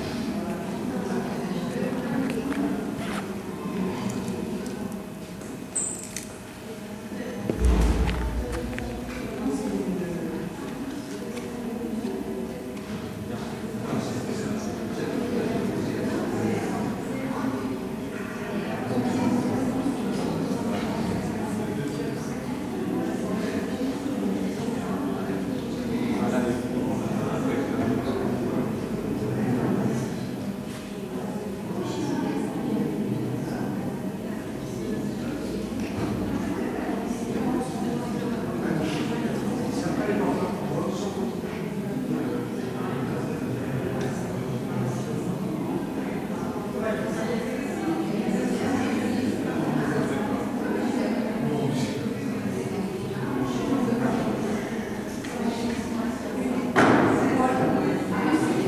People waiting, talking 0.0 - 58.6

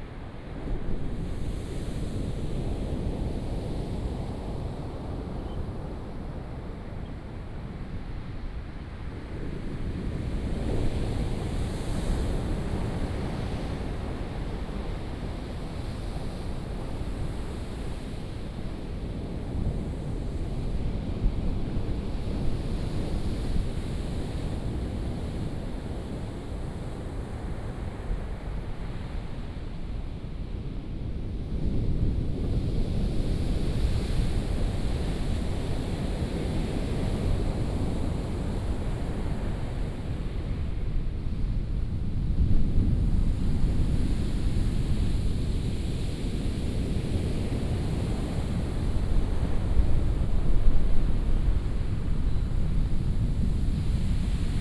waves 43.5 - 54.6

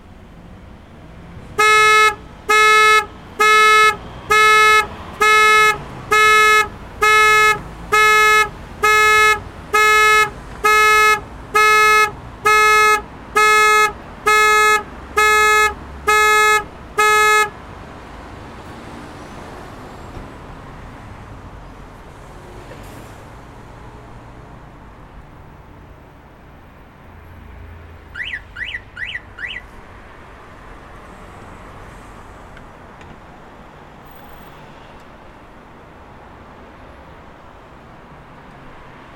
car alarm 1.6 - 17.5
car alarm 28.2 - 29.7

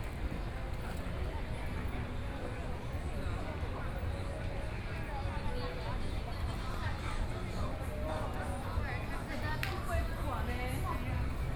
walking in the Shopping district 0.0 - 11.5

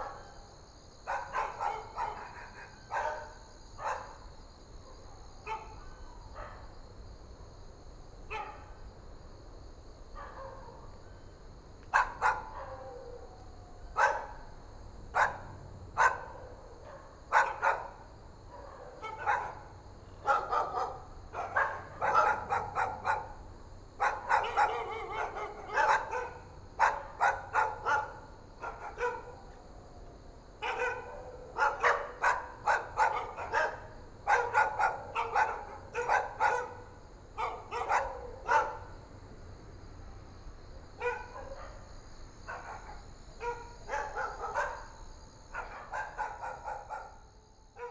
Dogs barking 1.0 - 4.2
Dogs barking 4.9 - 6.7
Dogs barking 8.3 - 8.7
Dogs barking 10.2 - 11.0
Dogs barking 11.9 - 29.6
Dogs barking 30.6 - 39.0
Dogs barking 41.0 - 41.9
Dogs barking 42.5 - 47.9

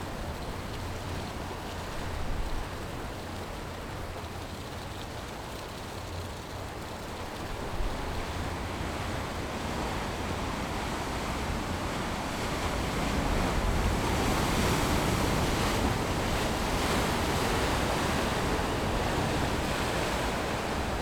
waves 7.1 - 21.0

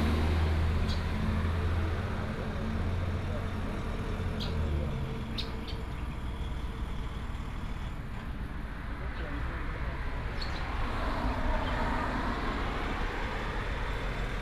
Traffic sound 0.0 - 14.4
Birds sound 0.0 - 1.6
Birds sound 4.0 - 7.9
Birds sound 10.1 - 12.2

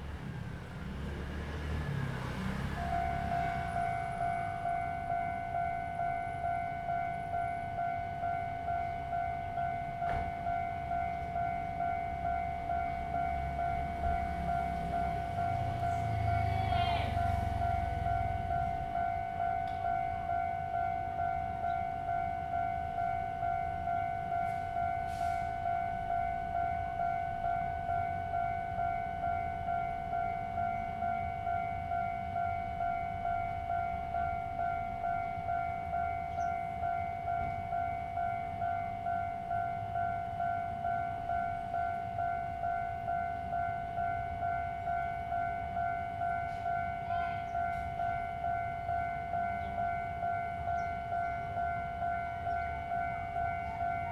Traffic Sound 0.0 - 54.1
Train traveling through 0.0 - 54.1
Birdsong sound 36.3 - 36.6
Birdsong sound 50.7 - 51.6

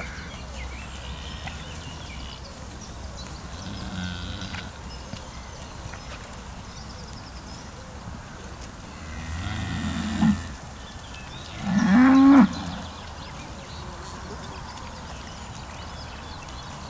Angry cows 3.4 - 5.9
Angry cows 11.5 - 13.2

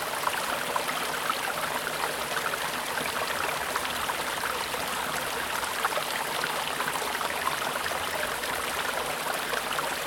small stream running through the grounds 0.0 - 10.0

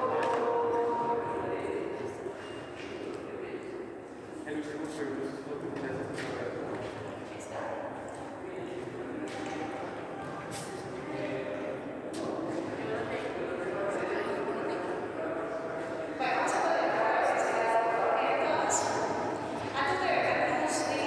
tourist tures are performed 0.0 - 21.0

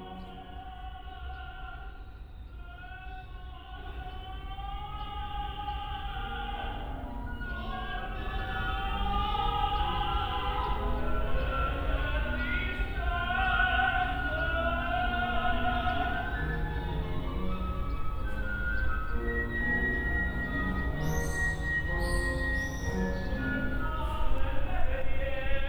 bird song 0.0 - 25.6
Simultaneous rehearsals before final exams 3.9 - 25.6

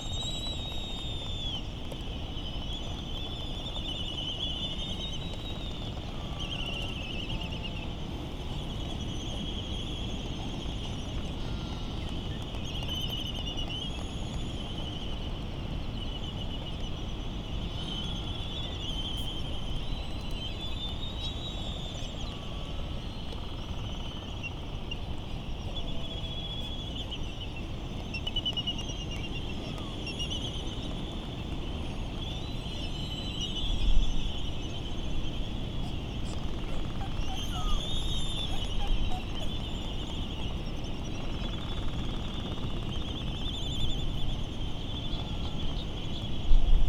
laysan calls 22.2 - 46.2

